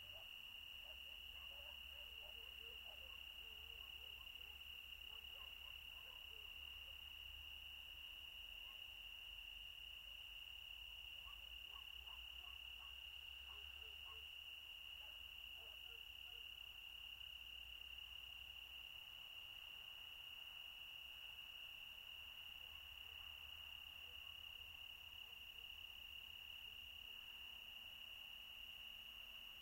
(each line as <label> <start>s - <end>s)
crickets 0.0s - 29.6s
distant dogs barking 0.0s - 7.0s
distant dogs barking 11.1s - 16.6s